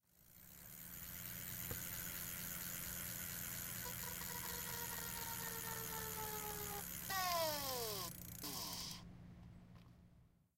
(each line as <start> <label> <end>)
0.2 Stopping a spinning bike tire with an introduced inanimate object 9.0